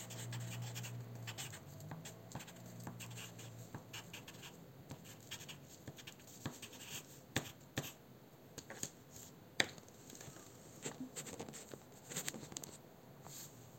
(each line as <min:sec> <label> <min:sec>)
0:00.0 pencil writing 0:08.0